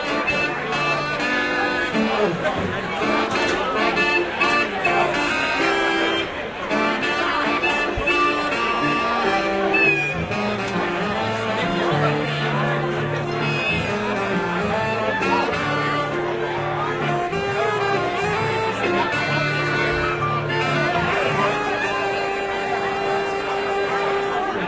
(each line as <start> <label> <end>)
0.0 band playing to the left 24.6
0.0 large crowd 24.6